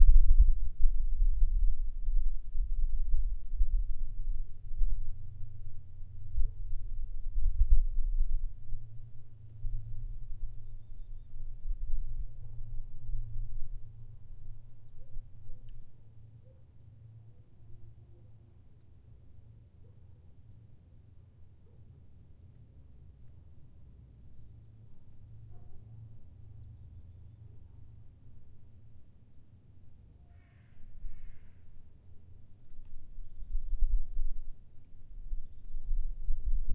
crow 0:30.2 - 0:31.7

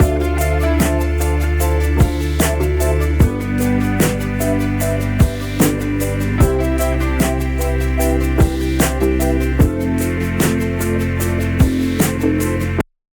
daft punk type beat 0:00.0 - 0:12.8

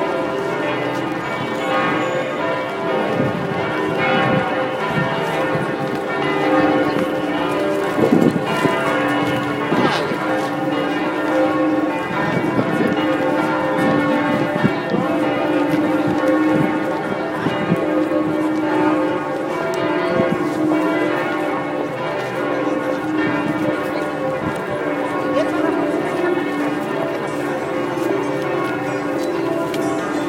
Notre Dame Bells 0:00.0 - 0:30.2

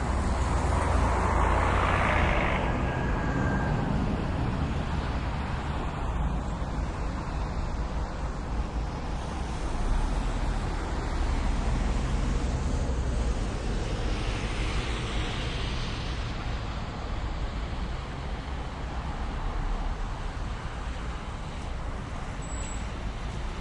Busses arriving and departing 0:00.0 - 0:18.5
distant traffic 0:00.0 - 0:23.6

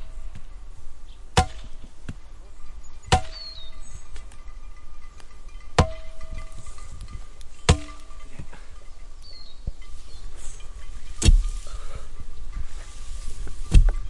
sheep with bells 0:00.0 - 0:01.1
Birds were singing 0:00.0 - 0:14.0
used a crowbar to make holes in the ground 0:01.3 - 0:02.2
sheep with bells 0:01.8 - 0:14.0
used a crowbar to make holes in the ground 0:02.8 - 0:04.4
used a crowbar to make holes in the ground 0:05.2 - 0:08.7
sweeping the hay into mounds 0:05.8 - 0:08.8
sweeping the hay into mounds 0:09.4 - 0:14.0
used a crowbar to make holes in the ground 0:10.3 - 0:12.1
knocking a sharp, short pole obliquely into the ground 0:11.2 - 0:11.6
used a crowbar to make holes in the ground 0:12.7 - 0:14.0
knocking a sharp, short pole obliquely into the ground 0:13.7 - 0:14.0

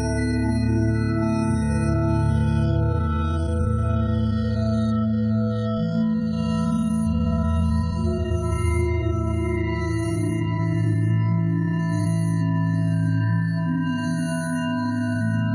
drone 0:00.0 - 0:15.5

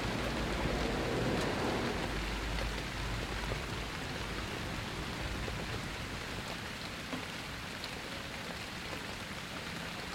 Soft rain 0:00.0 - 0:10.1

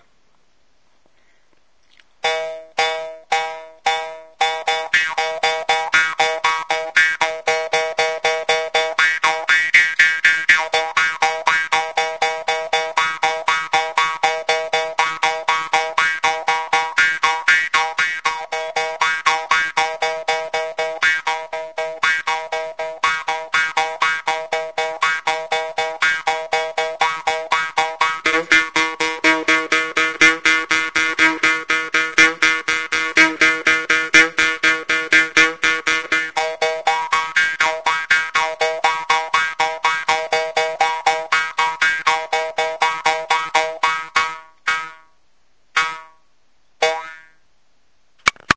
riffing on a small bamboo mouth harp 0:01.8 - 0:45.2
riffing on a small bamboo mouth harp 0:45.8 - 0:47.4

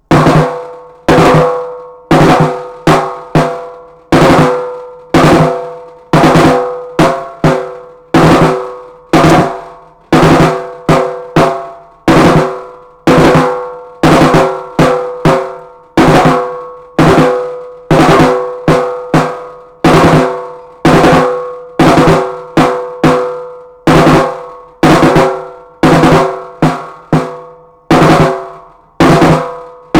military marching band snare 0:00.1 - 0:29.9

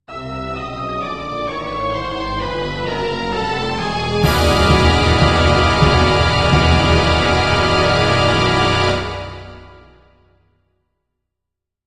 violins 0:00.6 - 0:10.0
brass 0:02.9 - 0:10.3
timpani 0:03.8 - 0:10.3
loud dissonant chord 0:04.2 - 0:10.2
cymbals 0:04.2 - 0:10.1

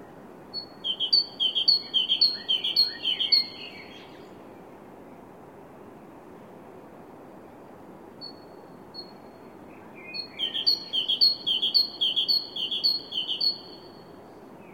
Bird singing 0:00.6 - 0:04.4
Bird singing 0:08.2 - 0:14.7

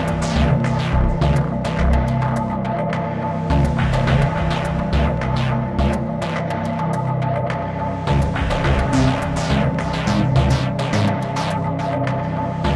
action game music 0:08.0 - 0:12.7

